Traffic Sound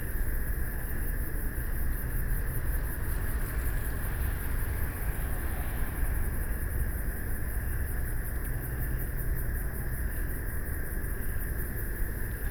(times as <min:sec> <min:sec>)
0:00.1 0:09.9